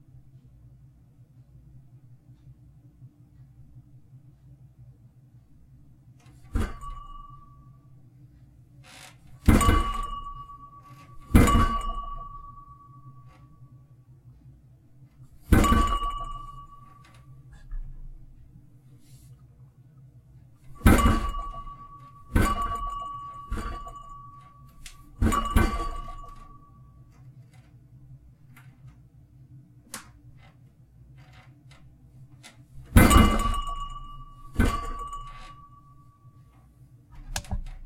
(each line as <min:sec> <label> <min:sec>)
0:06.4 Thumping 0:07.5
0:06.5 Clinking glass 0:07.7
0:09.4 Thumping 0:12.7
0:09.4 Clinking glass 0:13.4
0:15.4 Thumping 0:18.0
0:15.5 Clinking glass 0:17.2
0:20.7 Thumping 0:26.6
0:20.7 Clinking glass 0:26.8
0:32.8 Thumping 0:35.7
0:32.9 Clinking glass 0:36.0